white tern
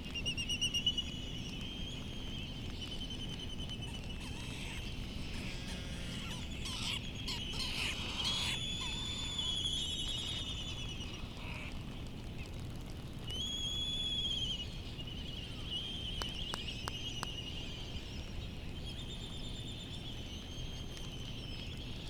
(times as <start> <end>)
2.8 11.7